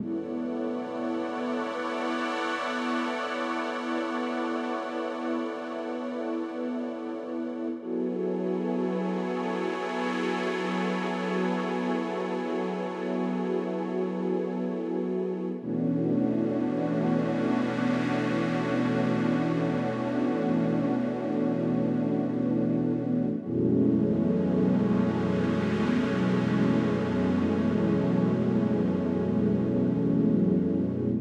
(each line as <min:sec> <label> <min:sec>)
0:15.2 warm and full pad 0:31.2